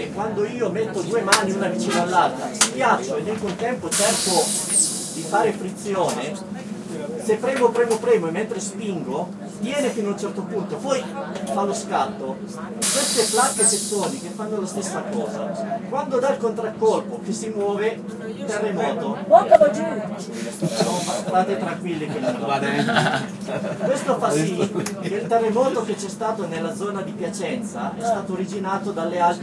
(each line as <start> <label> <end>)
0.0 shuttle bus 29.4
20.4 laughter 25.4